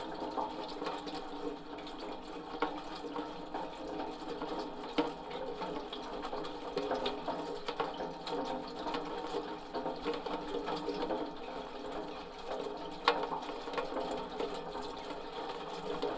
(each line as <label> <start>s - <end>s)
gutter is making strange noises with the rain 0.0s - 16.1s